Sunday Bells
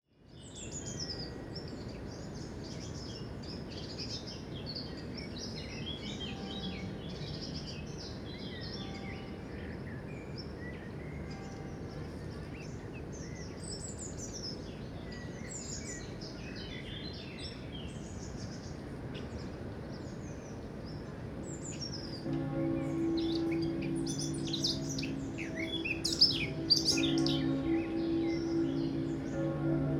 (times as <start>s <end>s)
6.0s 13.1s, 22.2s 29.9s